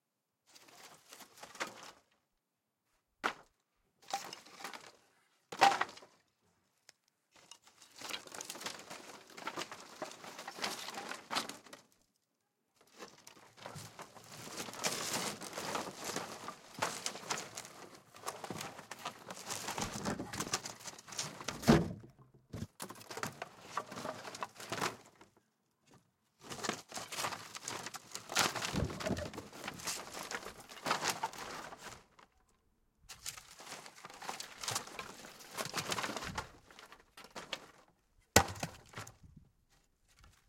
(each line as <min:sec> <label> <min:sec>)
0:26.6 Wood panel board debris rummage increasing 0:32.0